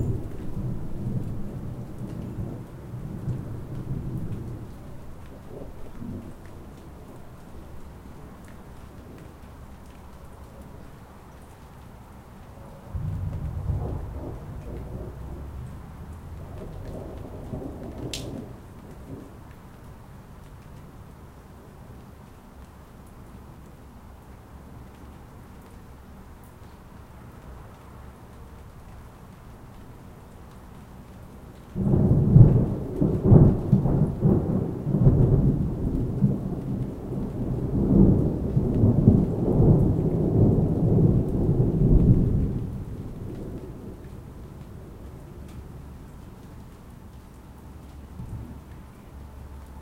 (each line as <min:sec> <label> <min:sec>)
0:00.0 rain 0:49.8
0:12.9 thunder 0:19.3
0:31.8 thunder 0:44.2